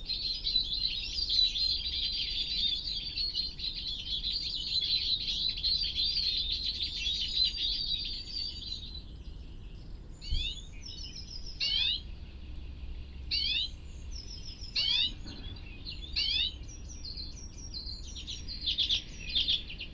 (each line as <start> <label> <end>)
11.5 mating call of a reversing vehicle 19.9